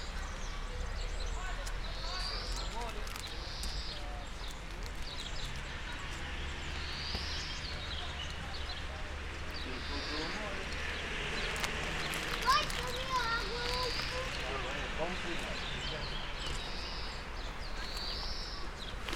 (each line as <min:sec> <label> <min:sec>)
0:00.0 People 0:19.1
0:00.0 birds 0:19.1
0:00.0 traffic 0:19.1